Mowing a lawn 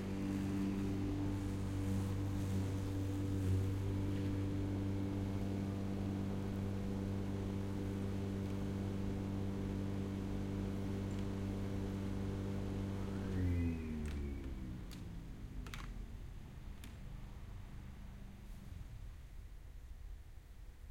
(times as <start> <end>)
0.0 15.0